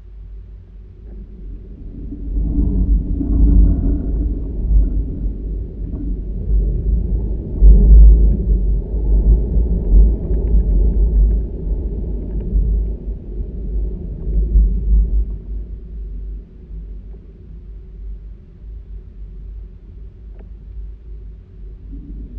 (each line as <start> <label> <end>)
0.9 Burned Pine in the Wind 18.4